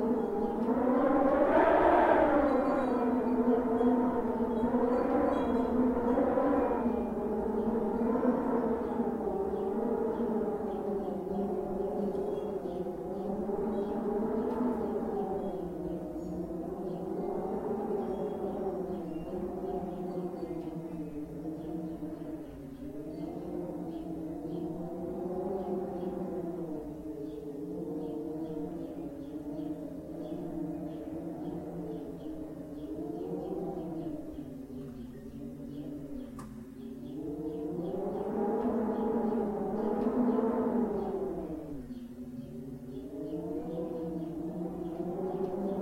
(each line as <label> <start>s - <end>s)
wind 0.0s - 45.8s
wind chimes 2.4s - 7.4s